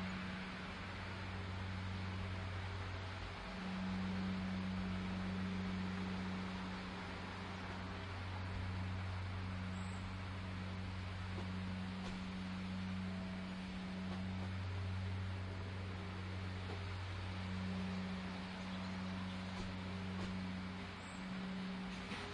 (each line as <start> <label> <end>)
0.0 grass cutting 22.3